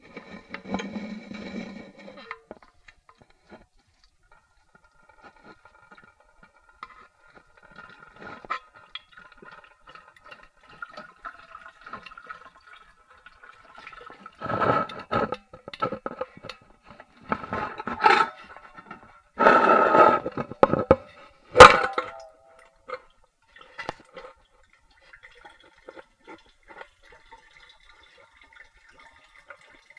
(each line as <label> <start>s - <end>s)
water 0.0s - 29.9s
empty out a giant thermos 17.3s - 22.4s